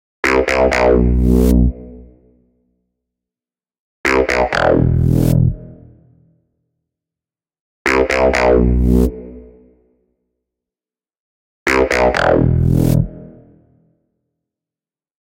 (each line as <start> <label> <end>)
0.4 Electronic bass loop 1.8
4.1 Electronic bass loop 5.6
7.9 Electronic bass loop 9.4
11.7 Electronic bass loop 13.3